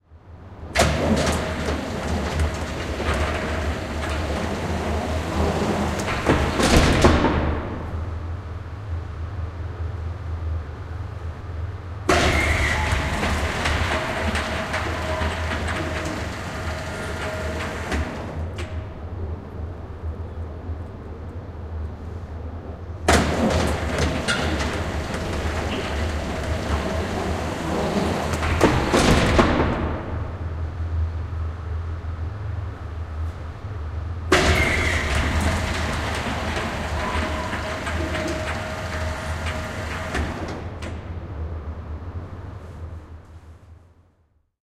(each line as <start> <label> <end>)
0.0 hum 44.3
0.6 Automatic door of a garage sliding open and close 8.4
12.1 Automatic door of a garage sliding open and close 19.6
23.0 Automatic door of a garage sliding open and close 31.2
34.3 Automatic door of a garage sliding open and close 43.8